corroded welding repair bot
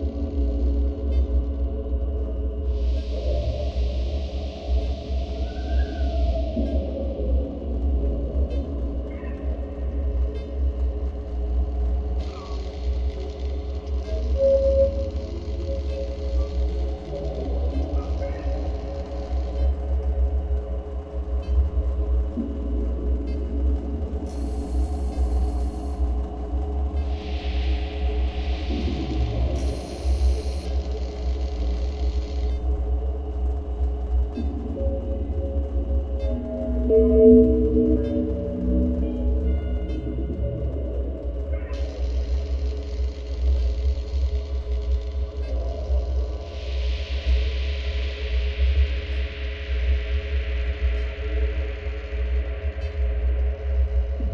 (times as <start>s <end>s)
29.6s 30.7s